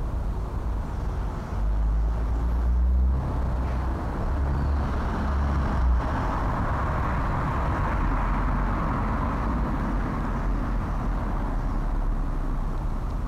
cars passing 0.0 - 13.2
wind 0.0 - 13.2

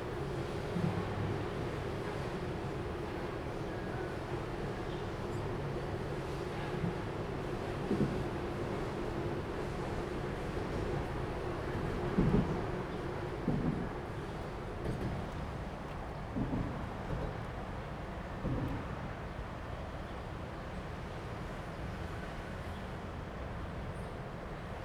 The train runs through 0.0 - 24.8

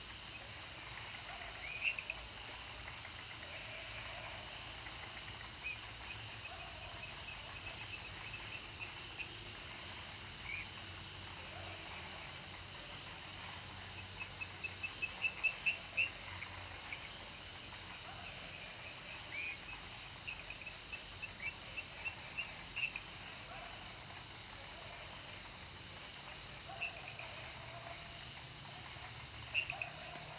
Frogs chirping 0.0 - 30.3
insects 0.0 - 30.3

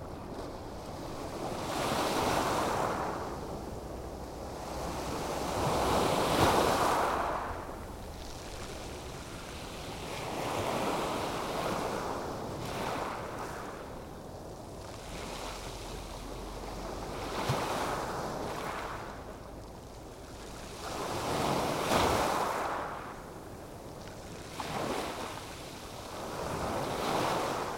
ocean surf on pebble beach 0.8 - 3.5
ocean surf on pebble beach 4.5 - 13.8
ocean surf on pebble beach 16.8 - 19.1
ocean surf on pebble beach 20.6 - 23.1
ocean surf on pebble beach 24.4 - 27.7

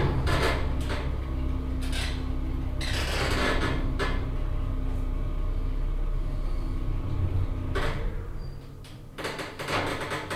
elevator 0.0 - 10.3

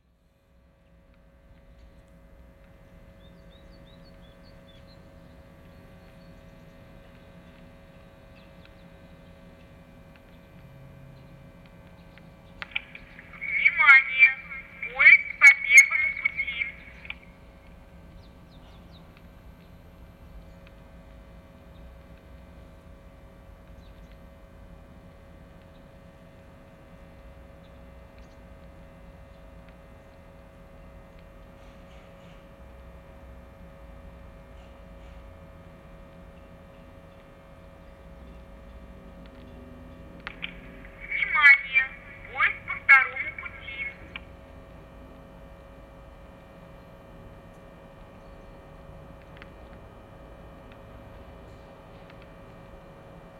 female voice warning about trains 13.3 - 17.1
female voice warning about trains 41.0 - 44.2

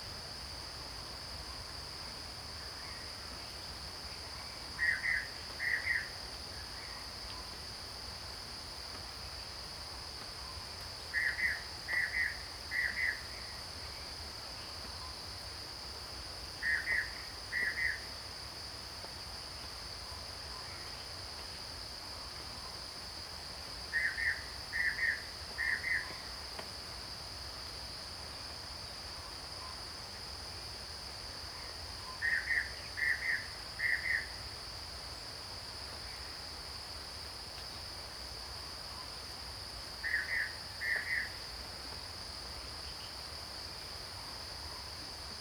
Cicada sounds 4.7 - 7.0
Cicada sounds 11.0 - 15.7
Cicada sounds 16.6 - 18.6
Cicada sounds 22.7 - 28.5
Cicada sounds 30.8 - 45.4

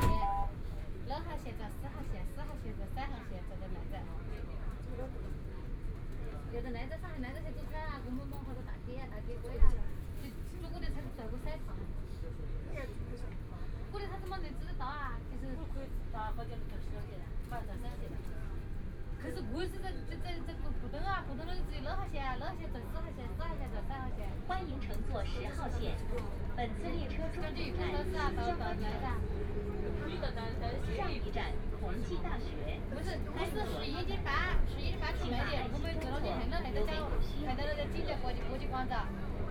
Train broadcast messages 0.0 - 0.6
crowd 0.0 - 39.5

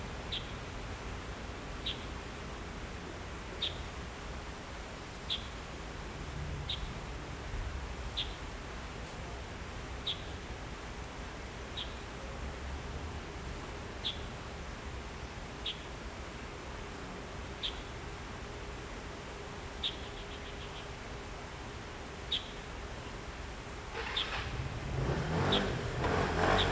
Traffic Sound 23.8 - 26.7
Birds 23.9 - 26.7

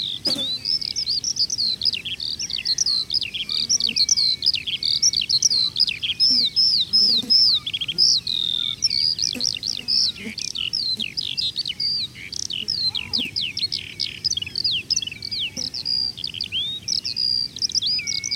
flies 0.0 - 16.3
Skylarks 0.0 - 18.3
frogs 0.0 - 18.3

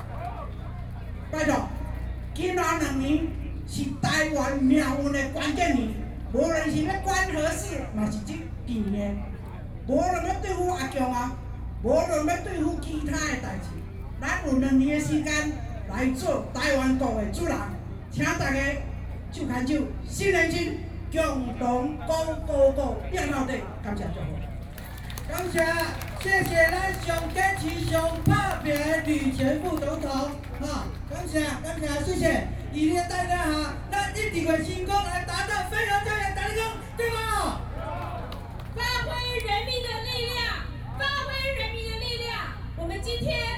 anti-nuclear protesters 23.7 - 34.5
Former Vice President speech 24.8 - 32.4

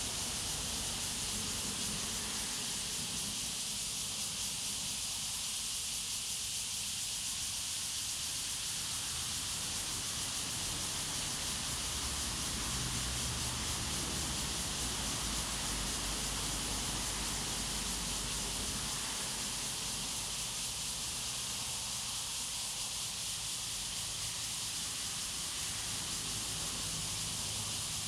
Traffic Sound 0.0 - 3.3
Cicadas sound 0.0 - 28.0
Traffic Sound 8.8 - 20.6
Traffic Sound 24.2 - 28.0

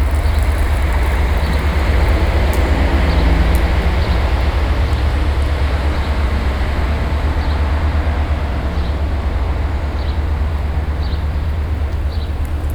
water sprinkler 0.0 - 6.7
cars passing by on the street nearby 0.0 - 12.7
water sprinkler 10.3 - 12.7

